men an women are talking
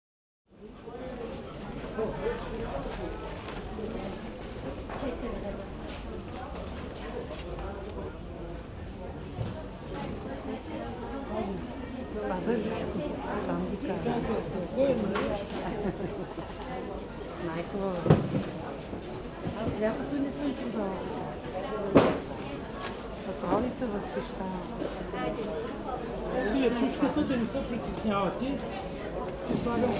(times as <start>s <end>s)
29.4s 29.9s